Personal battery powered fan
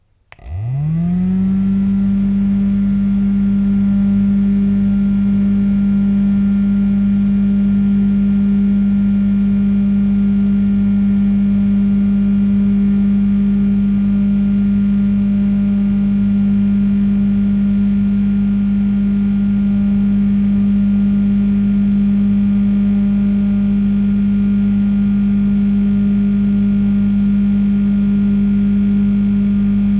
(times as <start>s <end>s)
0.3s 8.4s